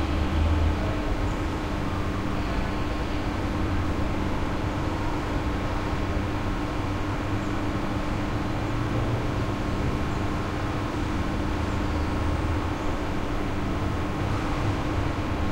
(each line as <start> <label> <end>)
0.0 heavy some ventilation 15.5
0.0 traffic 15.5